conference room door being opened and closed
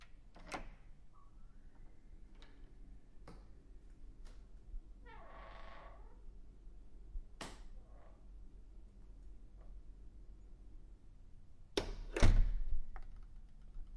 11.8 12.8

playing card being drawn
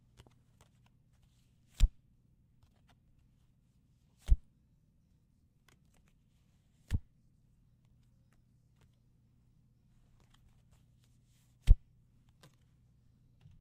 1.7 2.0

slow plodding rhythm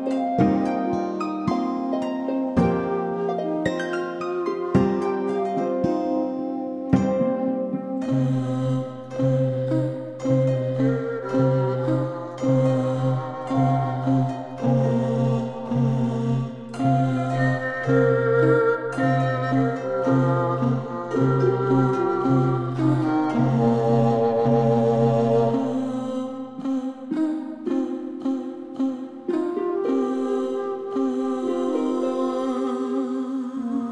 0.0 26.0

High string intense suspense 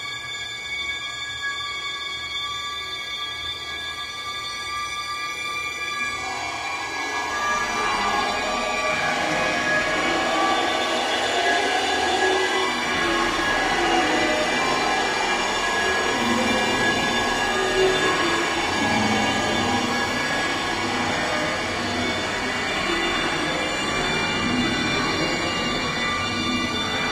6.4 27.1

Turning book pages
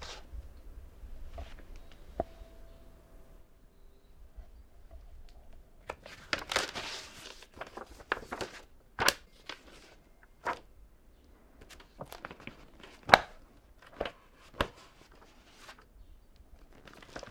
0.0 0.3, 5.8 10.7, 11.6 15.9, 16.6 17.3

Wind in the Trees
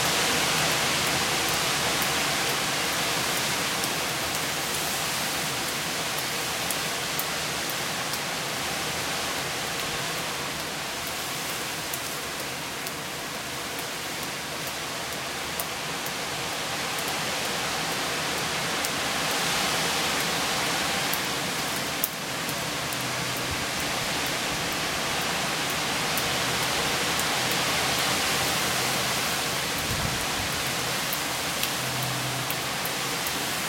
16.2 33.6

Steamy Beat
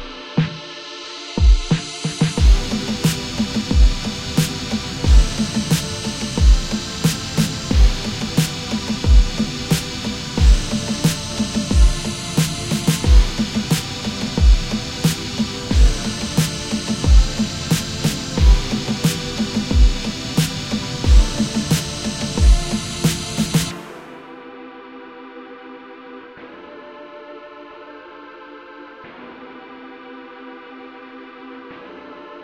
1.4 24.2

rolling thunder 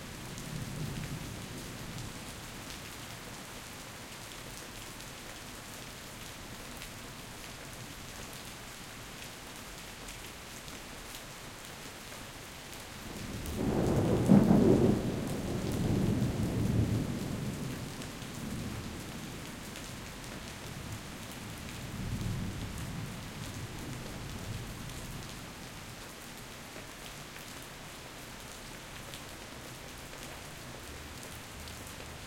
13.3 18.9

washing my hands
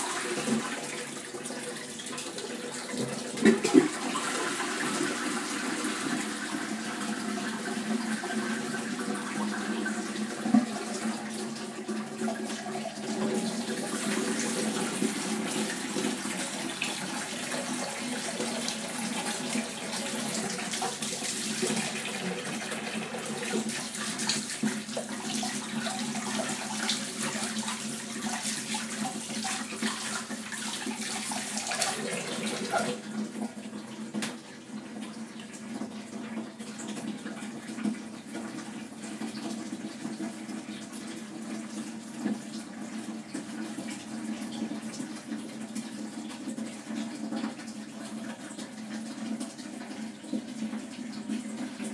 0.0 41.3

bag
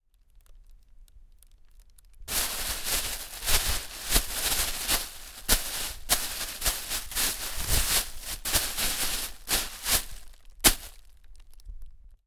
2.3 11.0

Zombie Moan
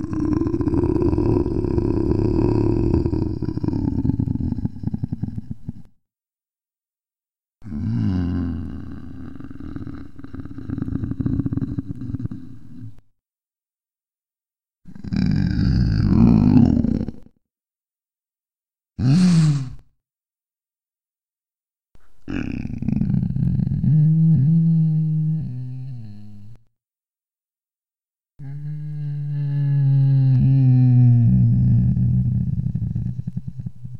0.0 5.9, 7.6 12.9, 14.9 17.3, 19.0 19.8, 28.4 33.4

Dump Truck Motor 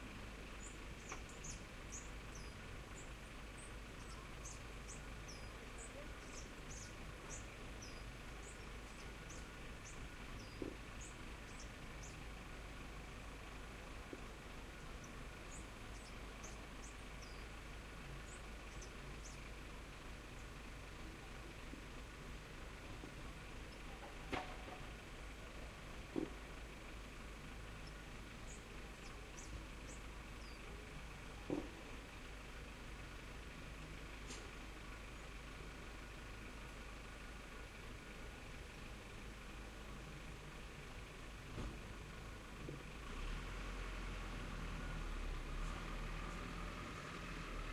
20.6 30.7

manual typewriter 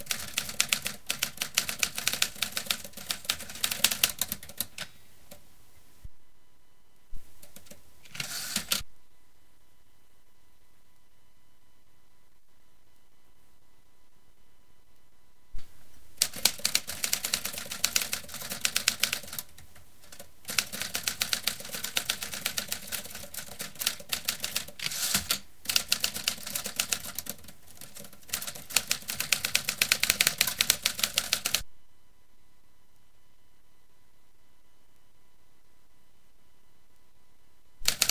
0.0 4.9, 7.4 8.8, 16.2 31.6, 37.8 38.1

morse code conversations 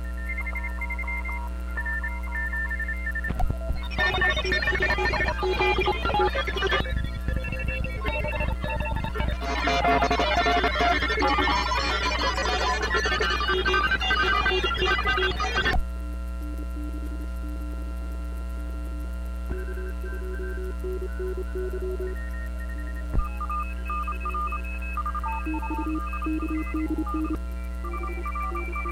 3.4 15.8, 19.5 28.9

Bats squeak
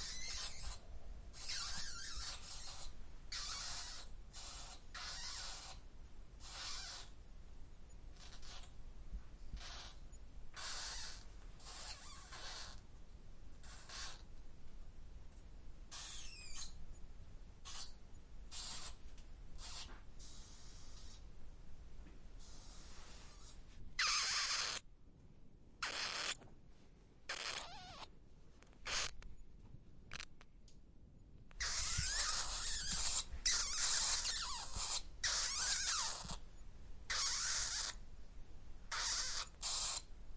0.0 0.8, 1.4 5.8, 6.4 7.1, 8.2 8.7, 9.6 10.0, 10.6 12.8, 13.6 14.2, 15.9 16.8, 17.6 19.0, 19.6 21.1, 24.0 24.8, 25.8 26.4, 27.3 28.1, 28.8 29.2, 31.6 36.4, 37.1 38.0, 38.9 40.1

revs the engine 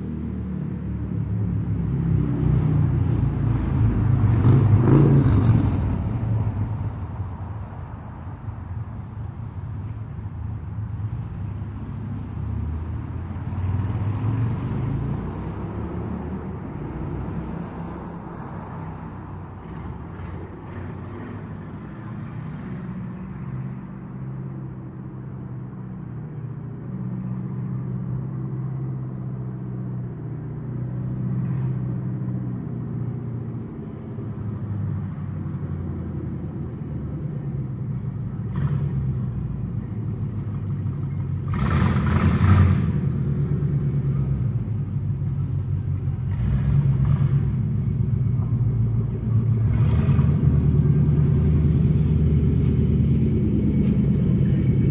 38.0 54.9

